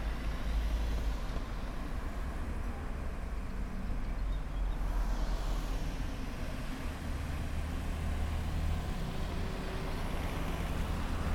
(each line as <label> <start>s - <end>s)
Crossroad sounds 0.0s - 11.3s